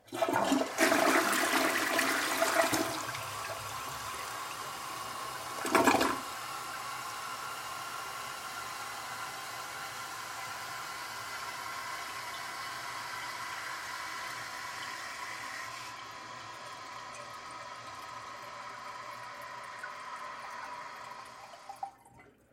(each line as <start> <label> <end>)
0.0 Flushing toliet 22.4